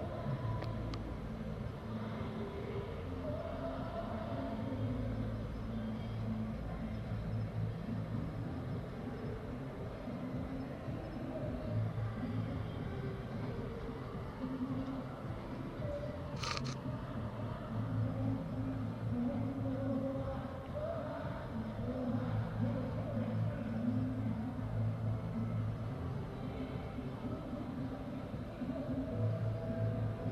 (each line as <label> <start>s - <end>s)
music 0.0s - 30.3s